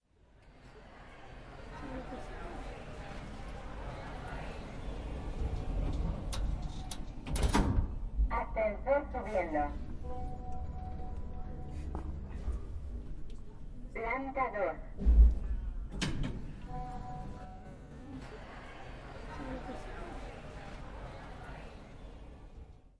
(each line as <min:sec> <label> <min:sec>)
0:00.5 distant voices 0:07.3
0:04.8 doors opening and closing 0:08.1
0:15.0 doors opening and closing 0:17.3